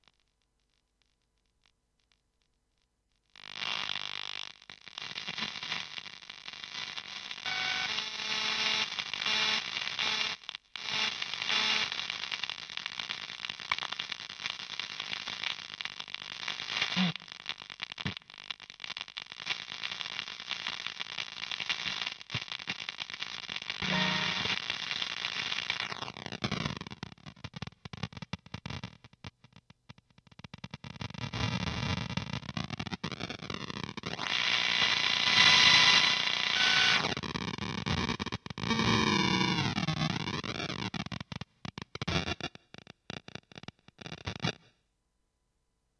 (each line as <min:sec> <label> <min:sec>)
0:23.8 geiger counter effect achieved with a guitar 0:24.6